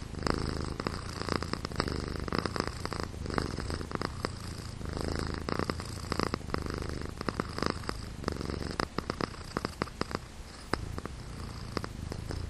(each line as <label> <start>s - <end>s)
Cat purring loud 0.0s - 12.4s